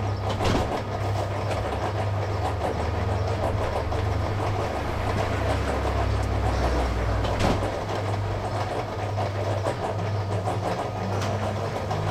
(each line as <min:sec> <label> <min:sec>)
0:00.8 concrete mixer 0:12.1